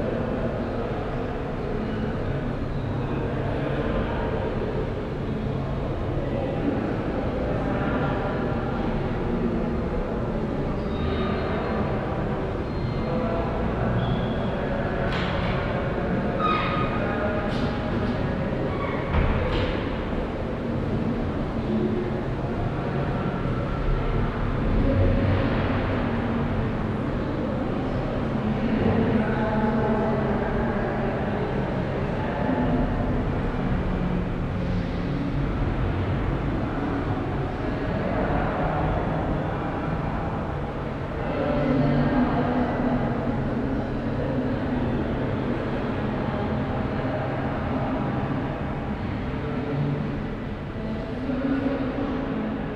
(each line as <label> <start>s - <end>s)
voices 0.0s - 52.7s